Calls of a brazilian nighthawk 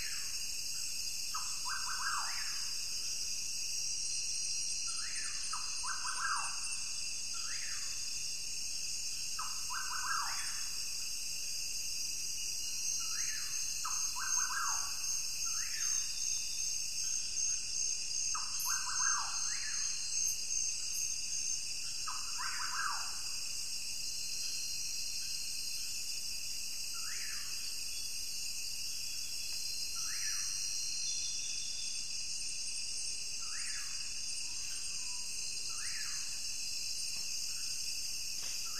1.3s 2.9s, 4.9s 8.0s, 9.4s 10.8s, 12.8s 23.4s, 30.0s 31.8s

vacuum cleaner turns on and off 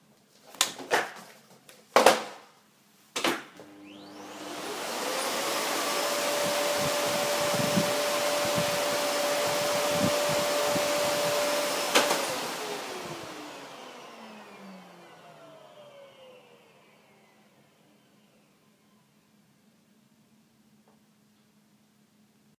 3.6s 19.2s

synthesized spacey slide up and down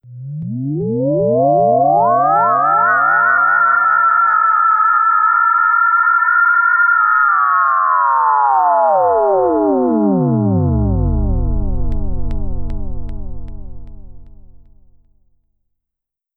0.1s 4.4s

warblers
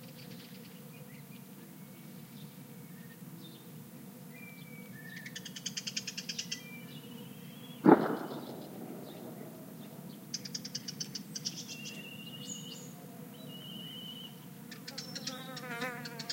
7.8s 10.6s

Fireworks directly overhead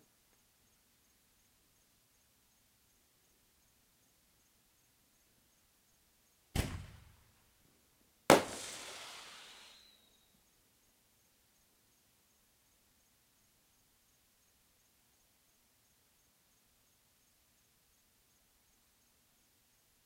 6.6s 7.2s, 8.3s 10.1s

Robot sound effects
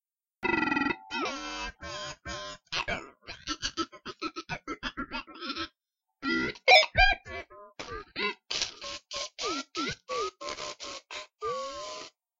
0.4s 2.4s

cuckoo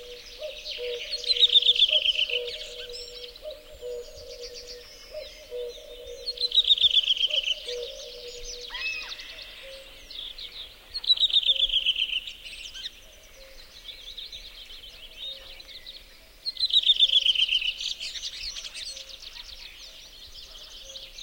0.0s 10.1s

